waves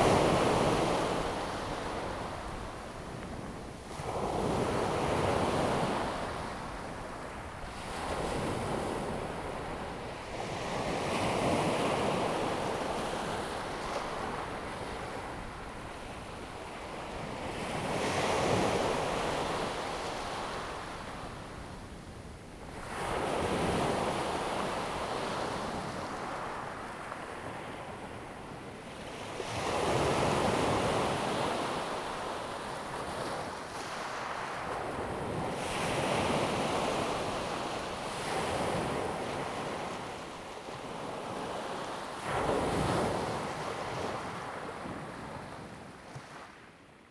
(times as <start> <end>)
22.8 46.8